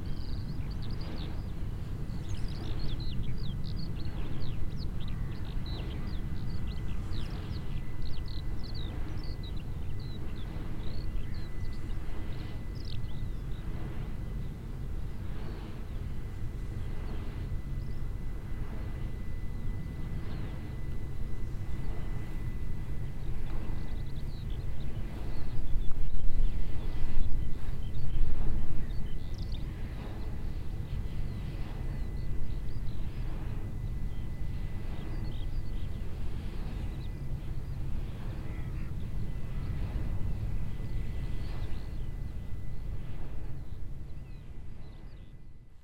movement sound of the mills wings 0:00.0 - 0:45.6
motor plane flying across the sky 0:00.0 - 0:45.8
birds chirping 0:00.0 - 0:14.6

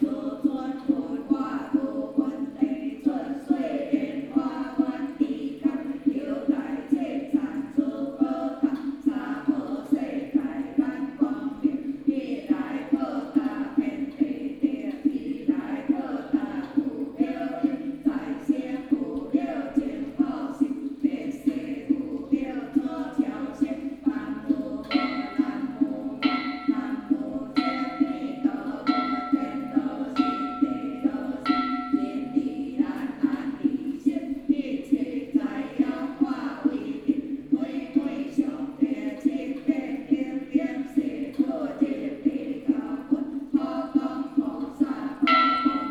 Chanting 0:00.0 - 0:45.9

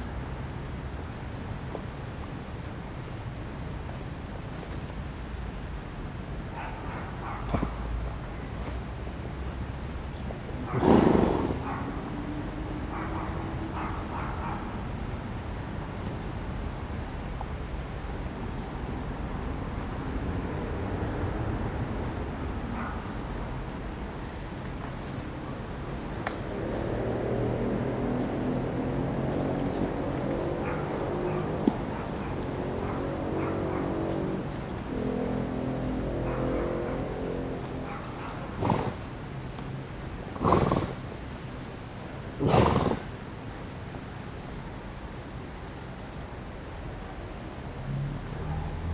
Horses 0:00.0 - 0:15.0
noisy fblblblbl 0:00.0 - 0:45.6
Horses 0:19.3 - 0:44.7
flies 0:21.5 - 0:44.8

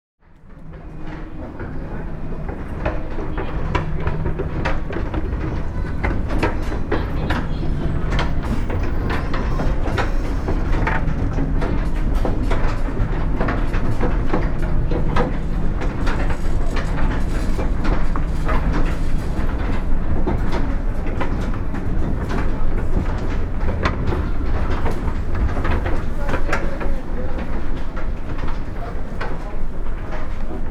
Old wooden escalator 0:00.2 - 0:30.7

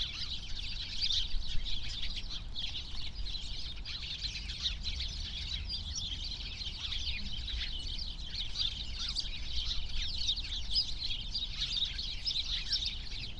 many sparrows (Hausspatzen) in a bush 0:00.0 - 0:13.3

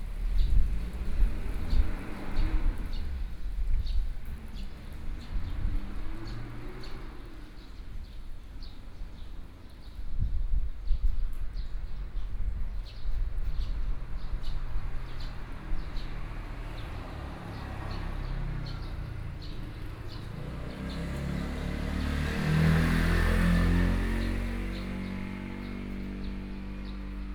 Birdsong 0:11.6 - 0:27.3
Traffic Sound 0:13.2 - 0:27.3

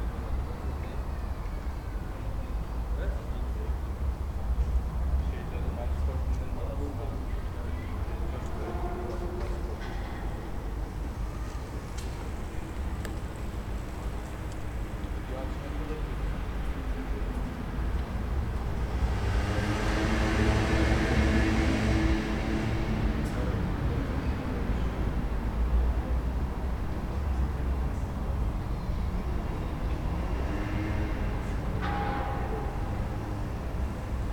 echo and reflections of street sounds 0:00.0 - 0:34.3
wind 0:00.0 - 0:34.3
church bells 0:30.8 - 0:34.3

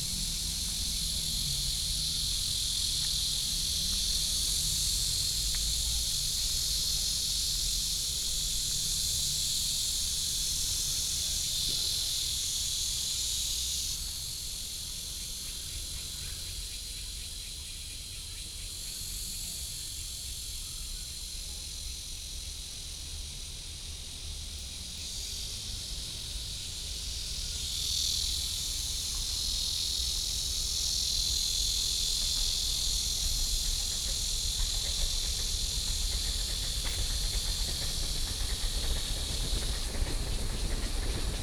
Cicadas 0:00.0 - 0:41.4
Trains traveling through 0:00.0 - 0:41.4

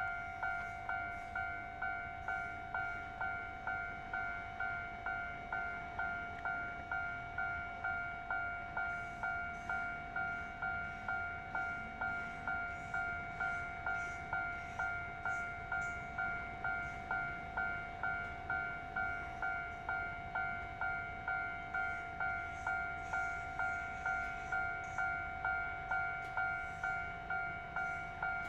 The train runs through 0:00.0 - 0:28.4
Traffic sound 0:00.0 - 0:28.4

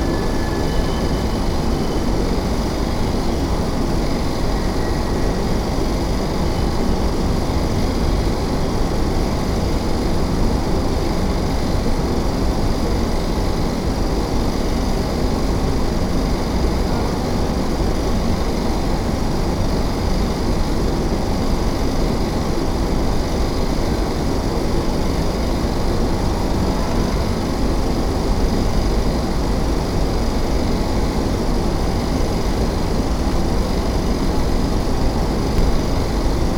buzz of AC units 0:00.0 - 0:36.5

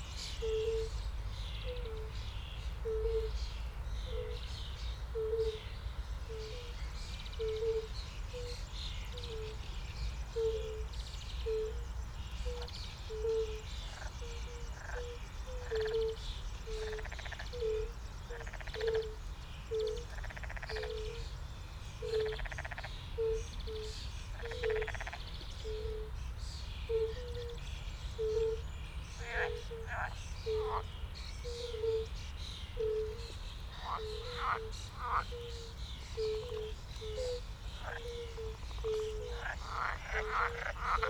River warbler 0:00.0 - 0:41.0
fire-bellied toads (Bombina bombina) 0:12.5 - 0:21.2
fire-bellied toads (Bombina bombina) 0:22.0 - 0:26.0
fire-bellied toads (Bombina bombina) 0:29.2 - 0:30.9
fire-bellied toads (Bombina bombina) 0:32.8 - 0:41.0

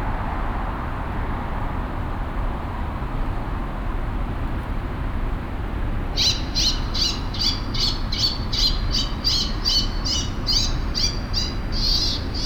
street traffic 0:05.7 - 0:12.4

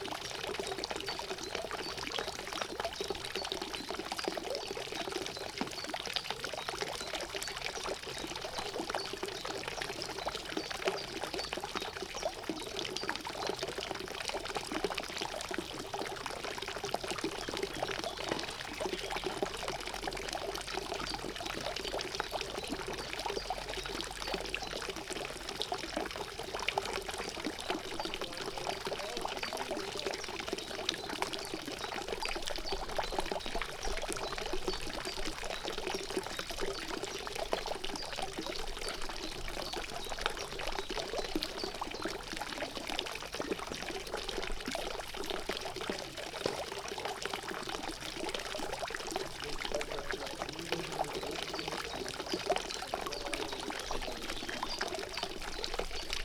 fountain 0:00.0 - 0:56.2

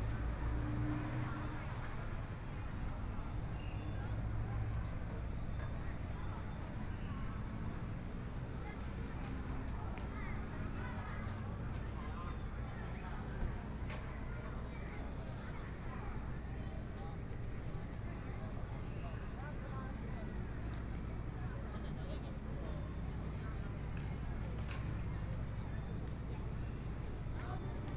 A lot of people in the street 0:00.0 - 0:27.9

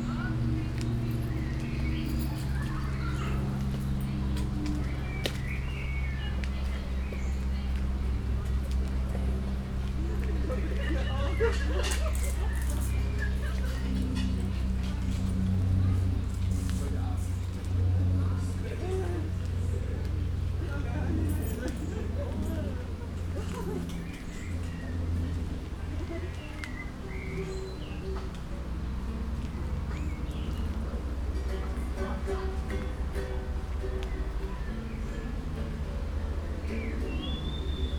birds 0:00.0 - 0:16.5
short walk in a small patch of woods 0:00.0 - 0:18.6
music 0:00.0 - 0:20.6
birds 0:21.4 - 0:37.9
music 0:26.6 - 0:37.9

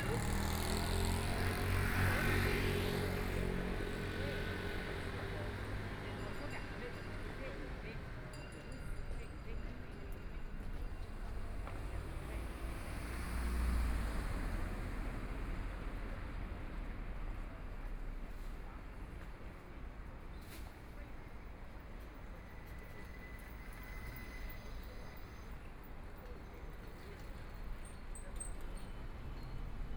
Traffic Sound 0:00.0 - 0:08.3
Traffic Sound 0:10.2 - 0:20.0

